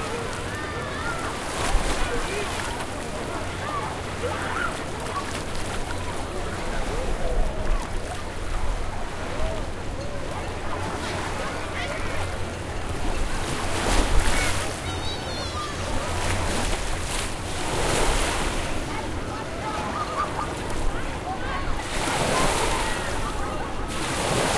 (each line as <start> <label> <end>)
0.0 splash 3.1
0.0 Children playing both in and near a bay of water 24.5
0.0 waves 24.5
19.8 laugh 20.6
21.8 splash 24.5